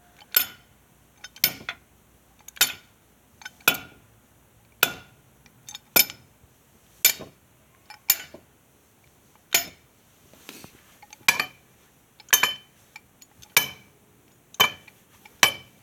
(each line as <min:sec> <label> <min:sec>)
0:01.2 Hitting an object with a pipe wrench 0:01.8
0:02.5 Hitting an object with a pipe wrench 0:04.0
0:04.8 Hitting an object with a pipe wrench 0:05.2
0:07.0 Hitting an object with a pipe wrench 0:07.3
0:08.0 Hitting an object with a pipe wrench 0:08.4
0:09.5 Hitting an object with a pipe wrench 0:09.8
0:11.2 Hitting an object with a pipe wrench 0:11.6
0:12.3 Hitting an object with a pipe wrench 0:12.7
0:13.5 Hitting an object with a pipe wrench 0:13.9
0:14.6 Hitting an object with a pipe wrench 0:15.8